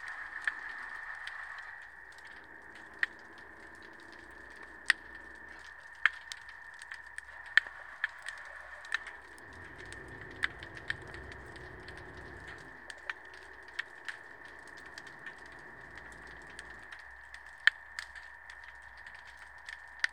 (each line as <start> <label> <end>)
9.4 arriving of the tourist boat 12.6